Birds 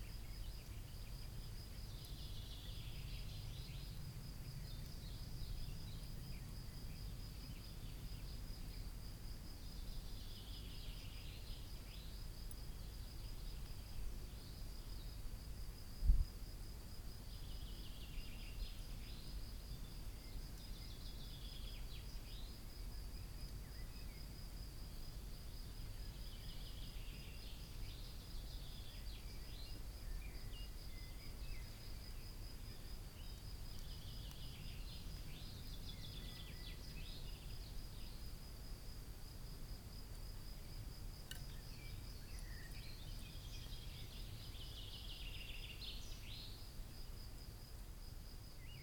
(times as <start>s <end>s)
25.0s 38.3s, 40.7s 46.7s